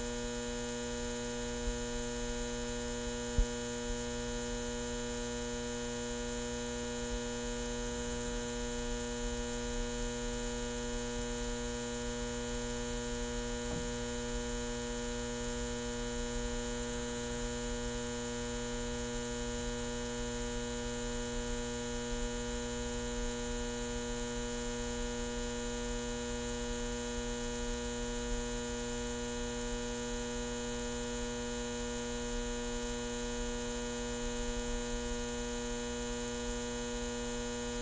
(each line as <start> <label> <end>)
0.0 neon sign buzz hum 37.8